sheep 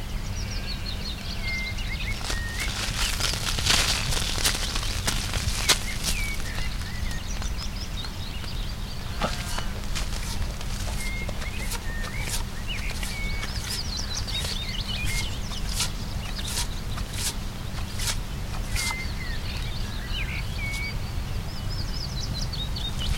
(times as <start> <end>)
9.0 13.6